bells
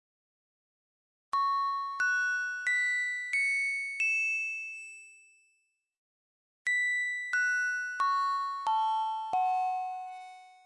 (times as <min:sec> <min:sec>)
0:06.8 0:10.6